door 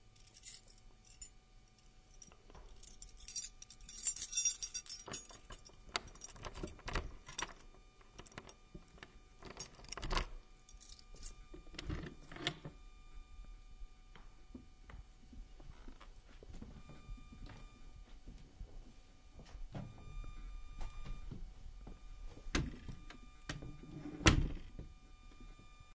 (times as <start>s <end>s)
22.6s 24.9s